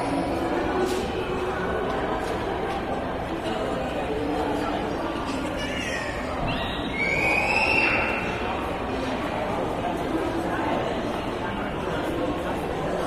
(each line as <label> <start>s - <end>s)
children played nearby 1.9s - 8.9s